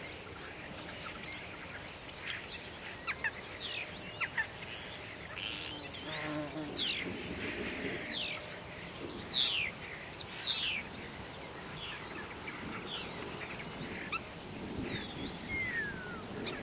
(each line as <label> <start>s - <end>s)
sparrows 0.0s - 16.6s